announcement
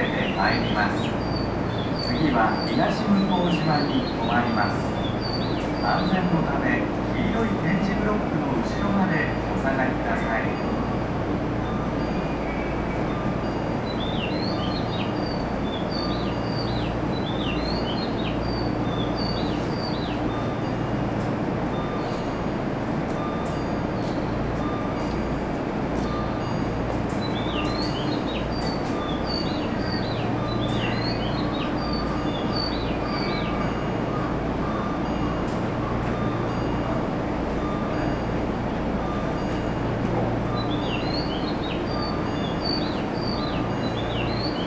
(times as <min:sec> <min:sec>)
0:00.0 0:11.0, 0:23.0 0:44.6